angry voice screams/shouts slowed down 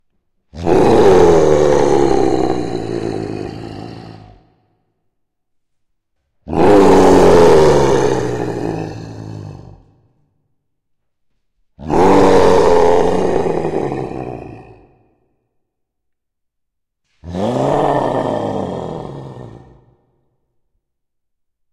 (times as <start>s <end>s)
0.6s 4.5s, 6.5s 10.0s, 11.8s 15.0s, 17.2s 20.0s